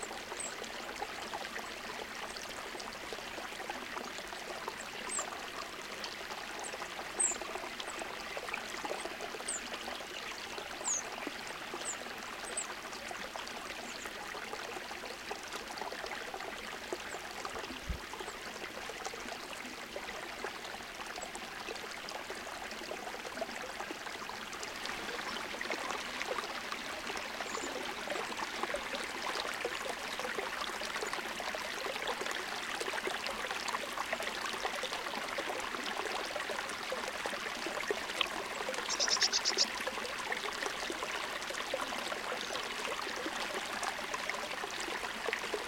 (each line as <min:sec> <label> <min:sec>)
0:00.0 small mountain creek 0:45.6
0:38.9 Eurasian blue tit 0:39.6
0:38.9 Eurasian nuthatch 0:39.7